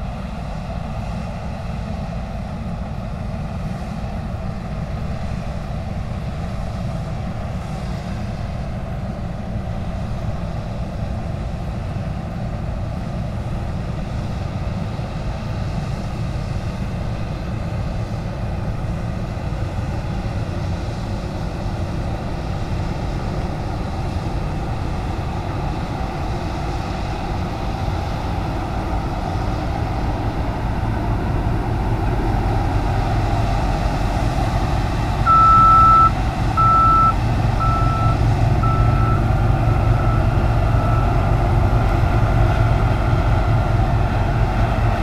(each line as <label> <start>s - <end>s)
combine harvester in the fields, harvesting the wheat 0.0s - 45.0s